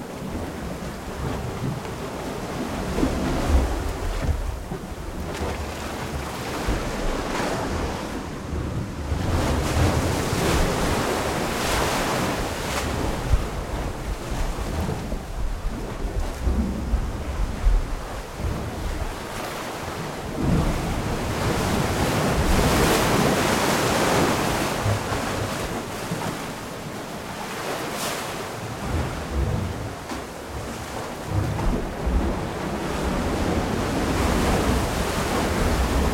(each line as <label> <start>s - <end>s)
water coming from the waves 0.0s - 36.1s